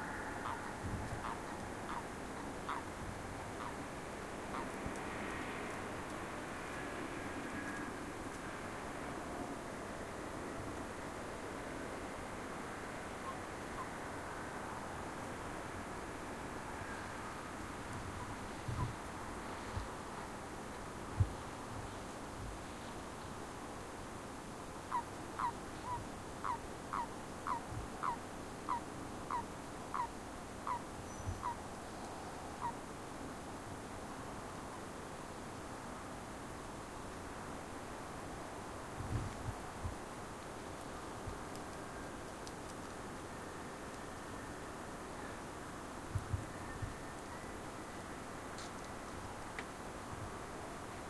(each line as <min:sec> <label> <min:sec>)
0:00.0 Frogs 0:03.9
0:04.5 Frogs 0:05.5
0:24.8 Frogs 0:31.6
0:32.5 Frogs 0:32.9